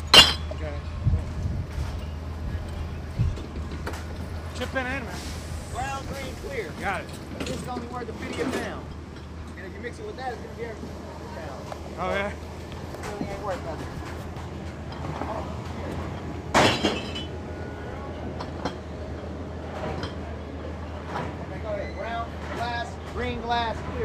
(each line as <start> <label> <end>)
0.0 beer bottles recycling 0.8
10.8 beer bottles recycling 21.5